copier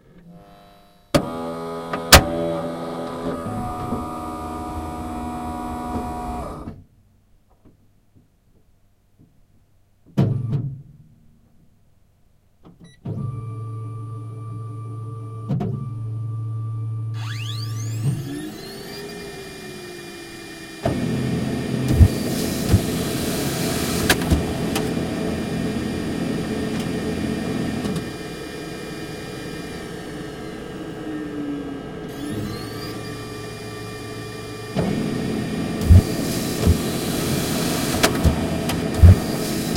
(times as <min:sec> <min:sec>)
0:01.1 0:06.7, 0:17.2 0:39.7